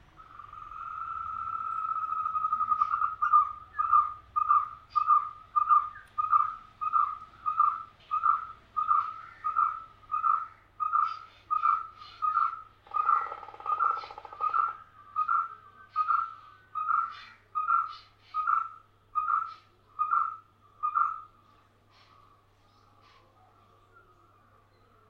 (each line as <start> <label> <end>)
0.0 birds 25.0